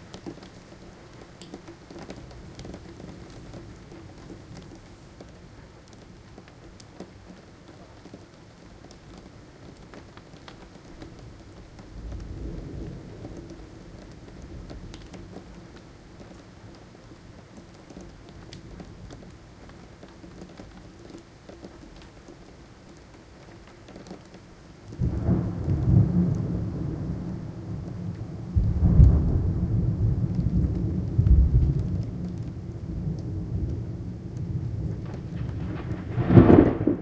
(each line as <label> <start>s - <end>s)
rain 0.0s - 37.0s
thunder 12.0s - 15.1s
thunder 25.0s - 37.0s